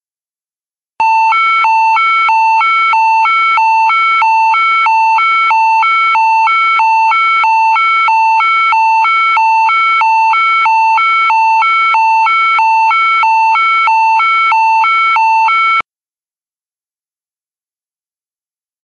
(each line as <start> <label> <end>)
1.0 Siren 15.8